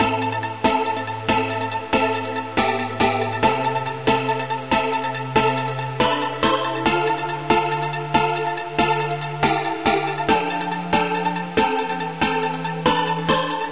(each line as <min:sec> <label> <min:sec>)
0:00.0 music 0:13.7